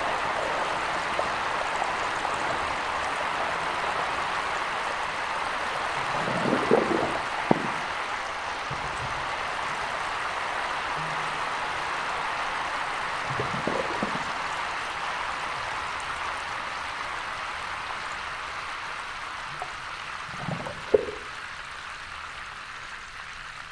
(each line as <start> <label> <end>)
2.6 Drainage Pipe Final rinse 16.2
19.5 Drainage Pipe Final rinse 21.6